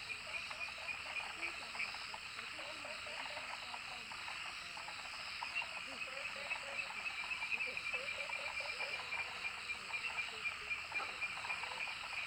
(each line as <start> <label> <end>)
0.0 insects 12.2